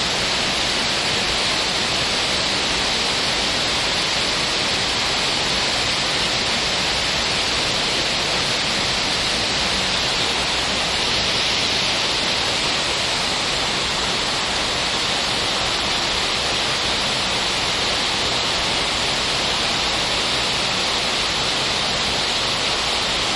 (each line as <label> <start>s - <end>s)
waterfall 0.0s - 23.3s